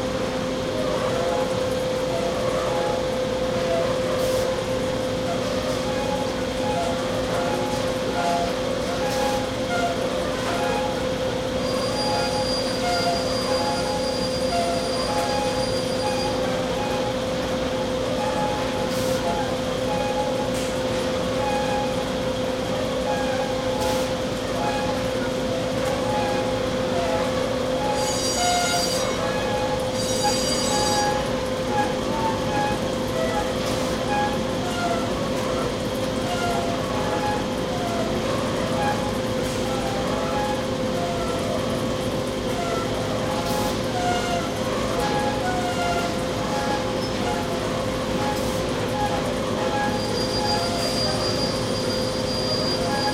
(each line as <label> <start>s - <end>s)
machinery 0.0s - 53.1s